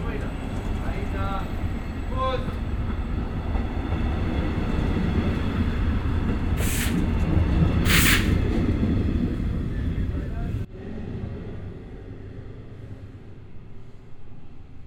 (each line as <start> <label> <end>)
0.0 A train arrives 14.8
0.0 departure of the regional train 14.8